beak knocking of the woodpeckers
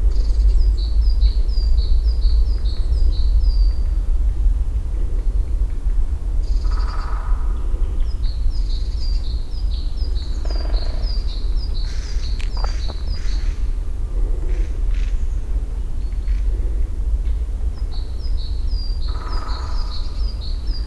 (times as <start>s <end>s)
11.9s 13.5s